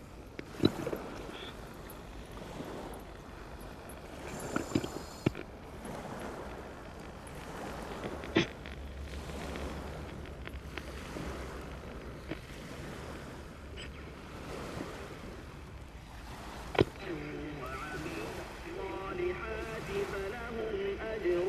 0.0s Radios on the Vltava beach 21.4s
0.0s waves of local boats 21.4s

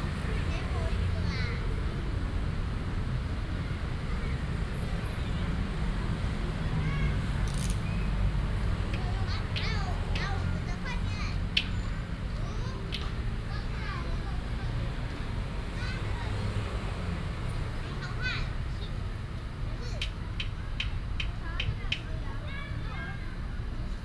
0.0s traffic sound 24.0s

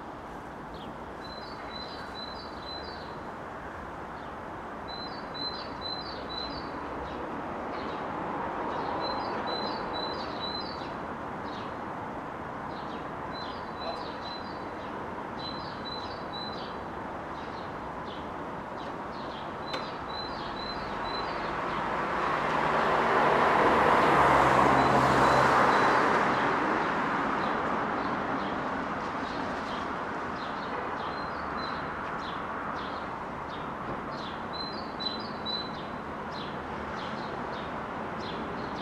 0.0s other noises of the street 38.8s
0.5s birds singing 3.2s
4.1s birds singing 8.0s
8.7s birds singing 11.8s
12.7s birds singing 21.9s
29.2s birds singing 38.8s

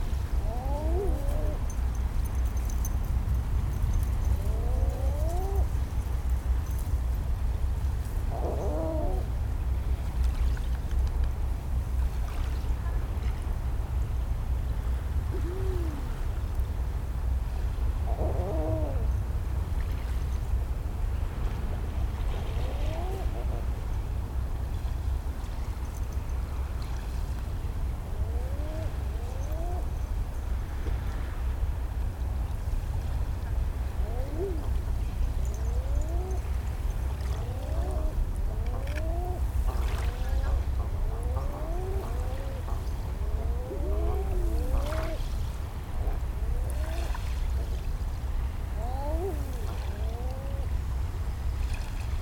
0.0s puppy playing in the sand 9.4s
0.0s Common Eider couples hanging out in a cove, calling 52.2s
0.0s low-level hum of traffic 52.2s
1.6s jingling her collar 4.4s
32.9s airplane passing overhead 51.0s

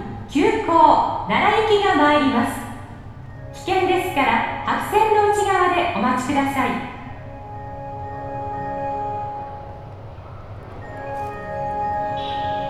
0.0s one ore two passengers 12.6s

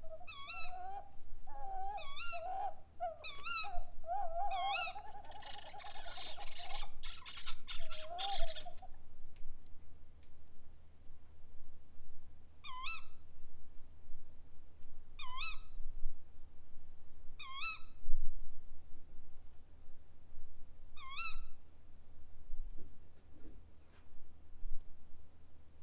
0.0s two brown owls talk to each other 9.0s

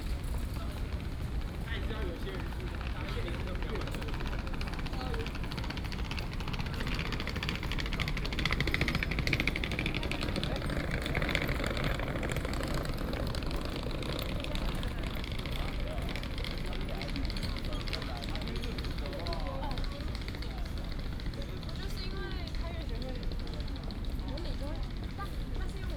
0.0s Bicycle sound 24.4s

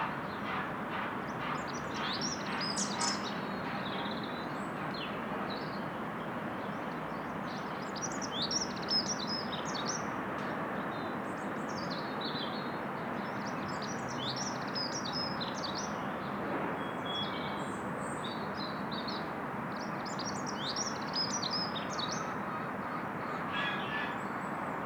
0.0s road noise in the background 24.8s

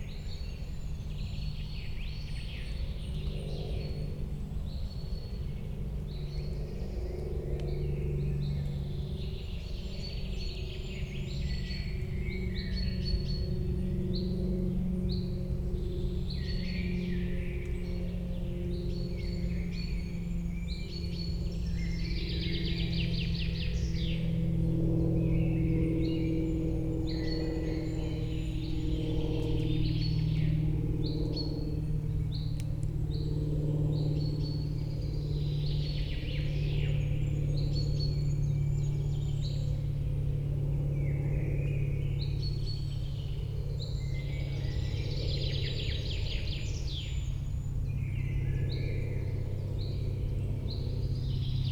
5.6s Birds 51.7s
6.6s airliners 51.7s

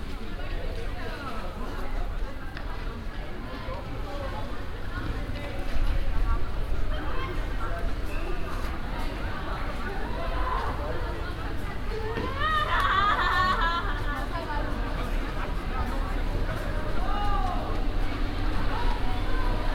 6.7s kids playing soccer and joking around 19.6s

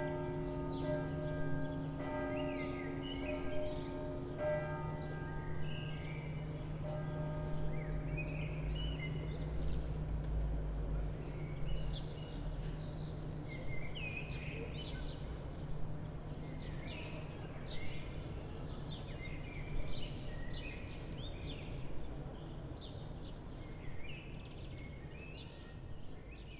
0.0s church bells 12.1s

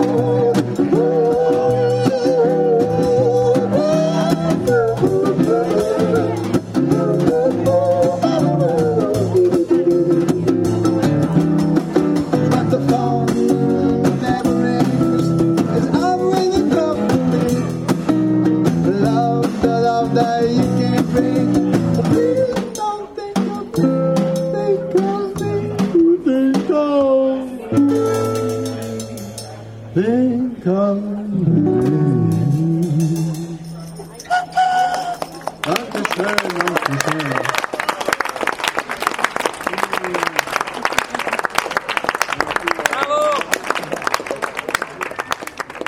0.0s drums 29.9s
0.0s guitar 37.6s
31.4s drums 34.2s

